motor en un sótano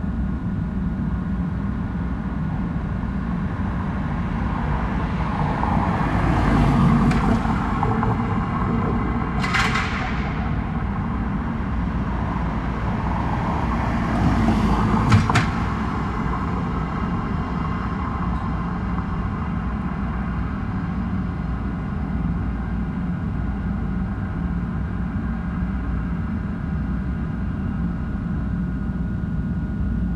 3.2s 23.8s

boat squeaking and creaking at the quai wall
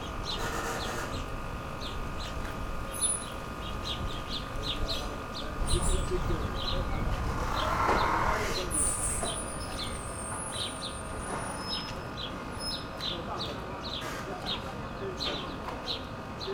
6.8s 12.0s

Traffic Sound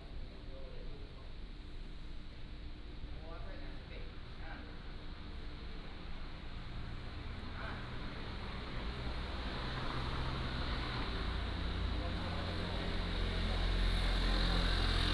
6.7s 15.1s

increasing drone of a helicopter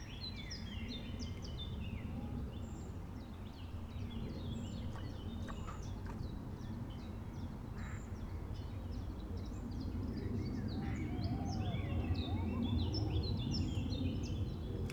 9.0s 14.9s

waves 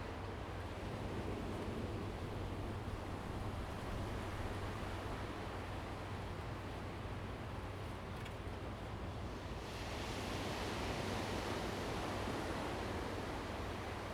9.2s 14.1s

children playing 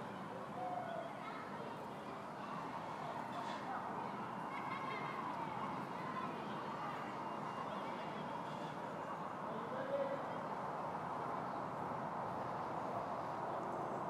0.0s 9.0s

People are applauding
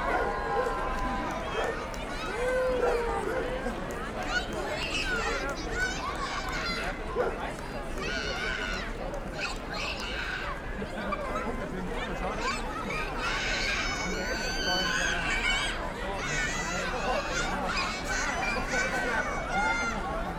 0.0s 10.5s

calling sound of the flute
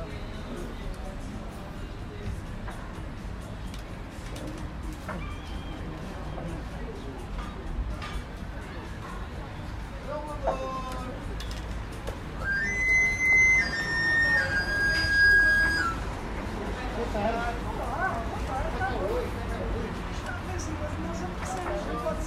12.4s 16.2s

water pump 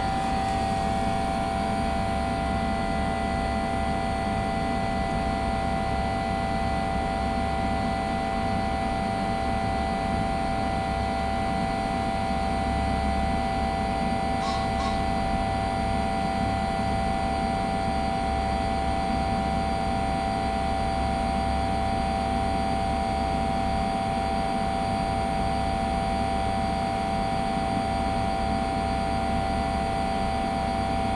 0.0s 4.7s

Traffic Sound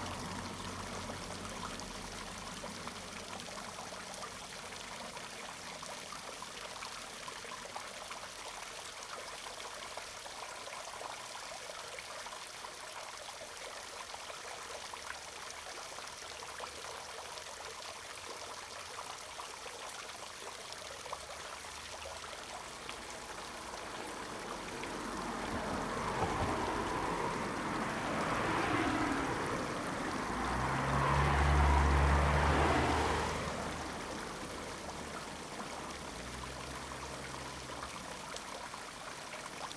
0.0s 5.6s, 21.6s 39.7s

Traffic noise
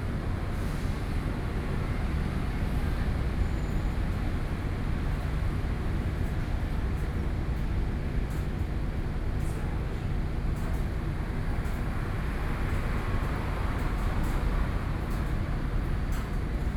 10.2s 16.7s

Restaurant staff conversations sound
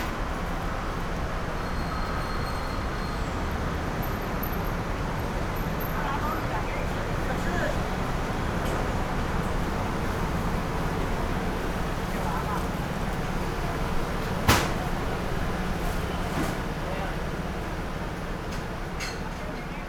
5.2s 19.8s

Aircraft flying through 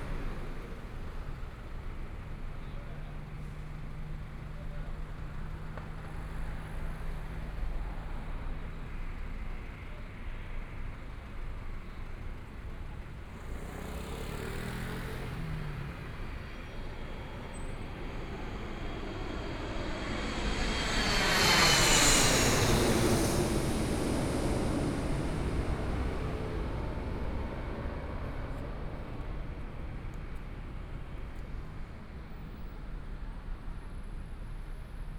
16.2s 29.3s

